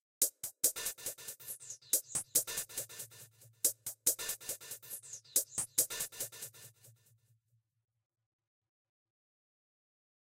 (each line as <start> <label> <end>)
0.2 hat loop with fx 6.9